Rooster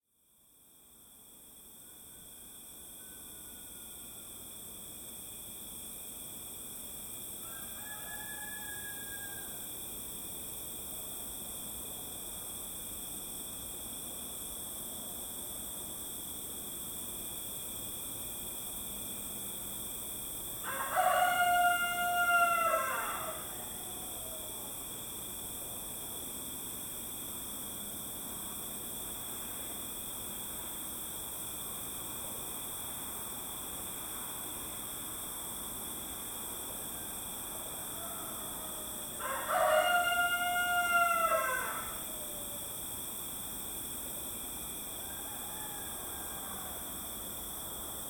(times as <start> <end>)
7.4 9.7, 20.6 24.7, 36.9 42.6, 45.0 47.0